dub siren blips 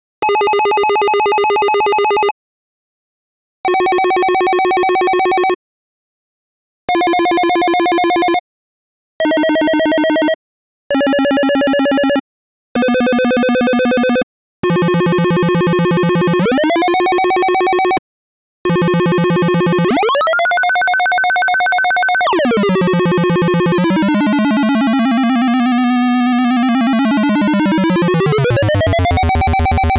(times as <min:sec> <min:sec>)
0:19.8 0:29.9